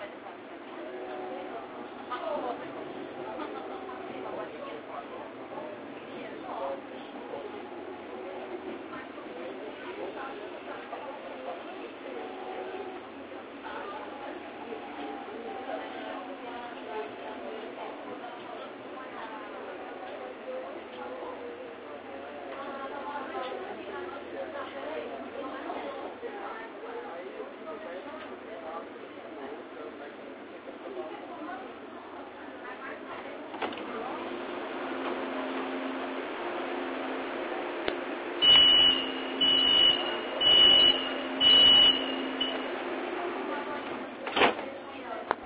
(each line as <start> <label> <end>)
0.0 subway 45.4
0.0 voices 45.4